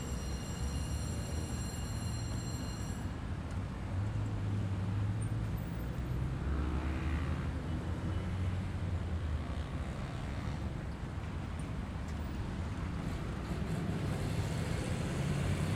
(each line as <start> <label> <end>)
0.0 paso del tren de la sabana 4.4
9.0 paso del tren de la sabana 15.7